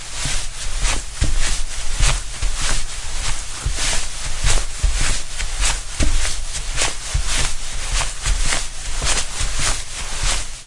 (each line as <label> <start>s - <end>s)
Walking on carpet 0.0s - 10.6s